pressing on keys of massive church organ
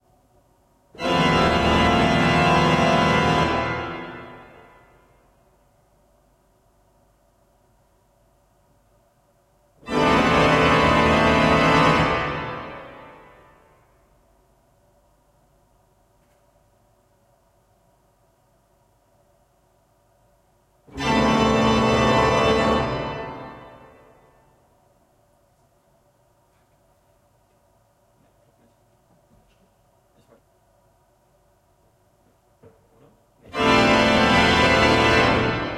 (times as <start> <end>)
1.0 4.6, 20.9 24.0, 33.4 35.7